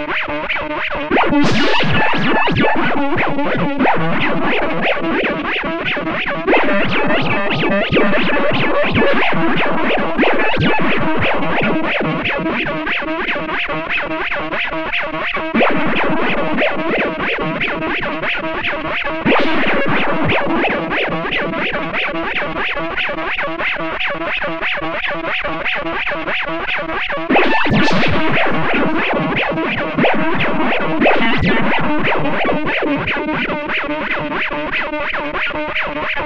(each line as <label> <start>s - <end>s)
'explosive' notes 15.6s - 23.0s